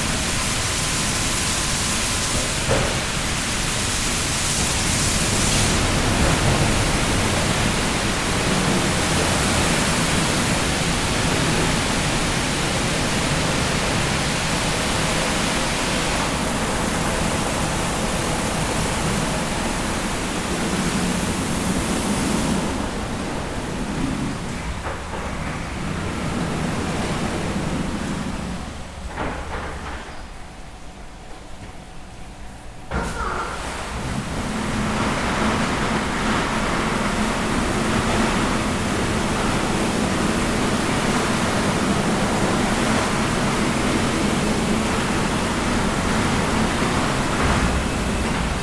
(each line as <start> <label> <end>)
0.0 petrol station carwash in action 48.6